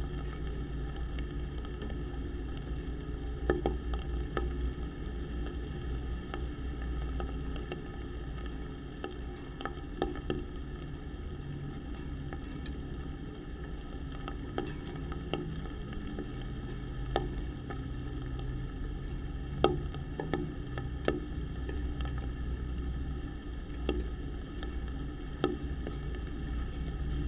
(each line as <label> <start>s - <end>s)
pipe and rain 0.0s - 27.2s